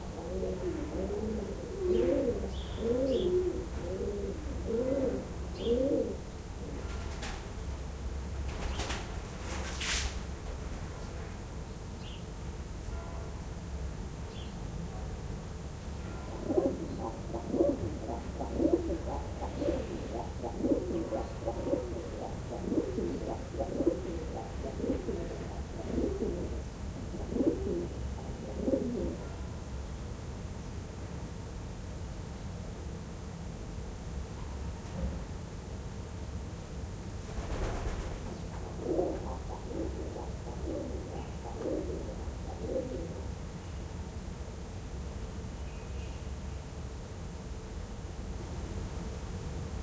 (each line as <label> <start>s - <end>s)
pigeons 0.0s - 7.6s
pigeons 8.4s - 10.2s
Church bells 12.9s - 13.4s
pigeons 16.3s - 29.4s
pigeons 37.3s - 43.4s